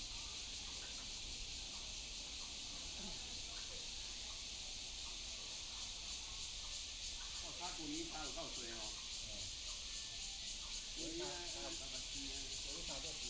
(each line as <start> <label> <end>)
0.0 Cicadas cry 13.2
0.3 Frogs chirping 13.2